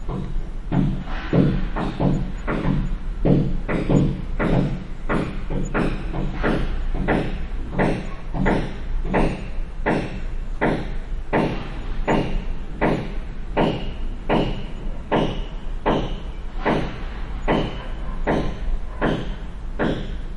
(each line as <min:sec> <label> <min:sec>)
0:00.0 hammering 0:20.3